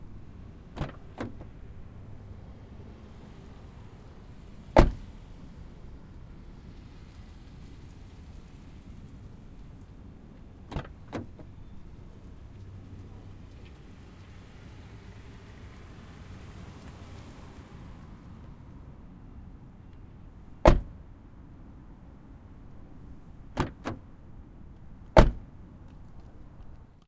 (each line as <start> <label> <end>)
0.0 various car bys 27.0
0.8 Prius door opens and close 1.5
20.6 Prius door opens and close 21.0